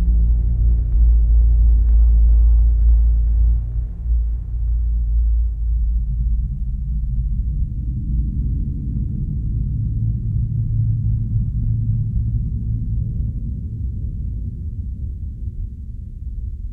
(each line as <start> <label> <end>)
0.0 deep notes created with a osc 13.3